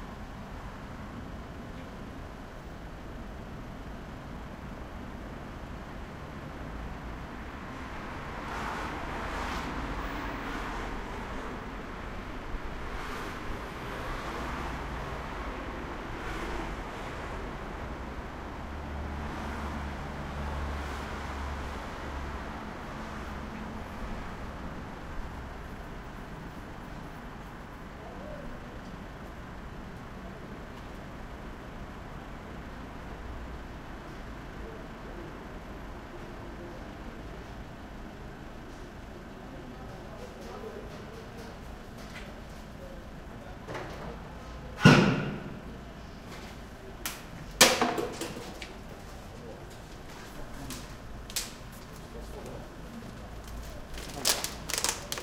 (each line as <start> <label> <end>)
0.0 buses 55.2
0.0 trucks 55.2
7.0 cars driving past 25.7
45.6 People walking past 55.2
53.4 people throwing away trash 55.2